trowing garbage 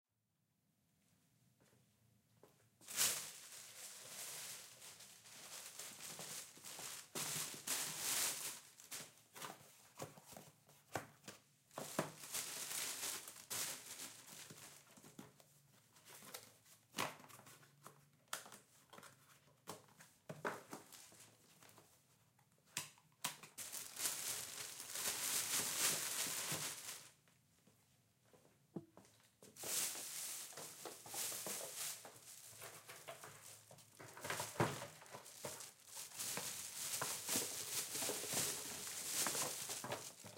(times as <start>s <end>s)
29.6s 40.3s